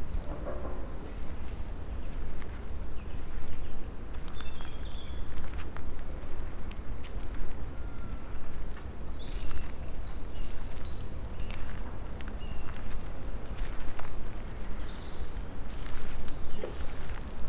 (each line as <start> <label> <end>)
0.0 birds 17.4
0.0 dry leaves 17.4
0.0 slow walk 17.4
0.0 wind 17.4
0.2 distant creaks 1.2